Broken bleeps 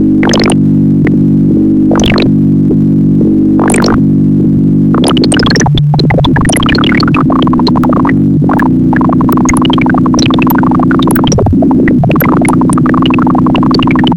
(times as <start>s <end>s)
3.6s 4.0s, 4.9s 14.1s